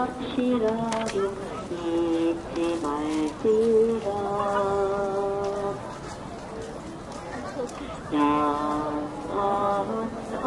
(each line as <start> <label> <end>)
0.0 Woman praying singing in Korean 5.9
0.0 people talking and walking 10.4
8.1 Woman praying singing in Korean 10.4